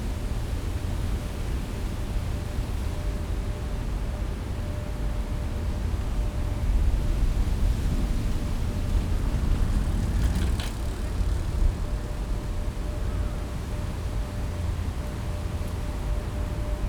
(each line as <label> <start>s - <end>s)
drones of a cargo ship passing nearby 6.6s - 14.5s